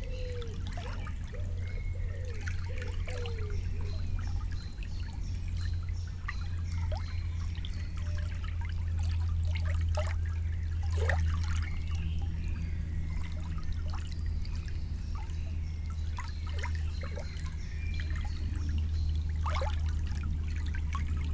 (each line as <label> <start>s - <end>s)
plane 0.0s - 21.3s
quiet river 0.0s - 21.3s